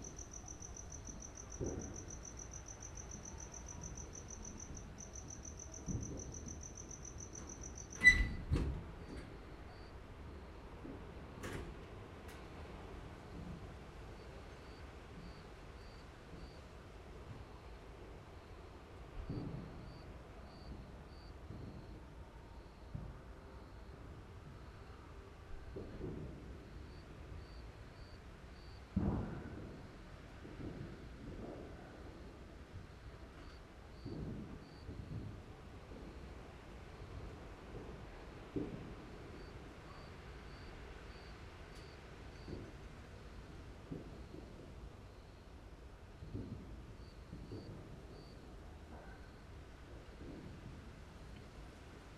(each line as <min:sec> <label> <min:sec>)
0:00.0 Fireworks displays 0:07.9
0:00.0 Wind 0:52.1
0:13.2 Fireworks displays 0:52.1